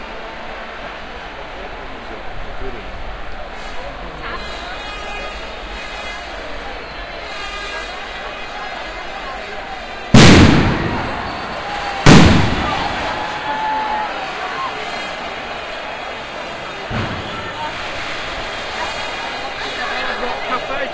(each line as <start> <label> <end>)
0.0 crowd 20.9
10.1 fireworks 14.0
14.6 fireworks 20.4